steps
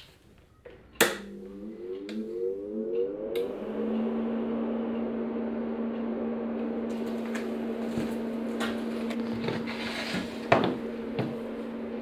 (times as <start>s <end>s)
6.9s 12.0s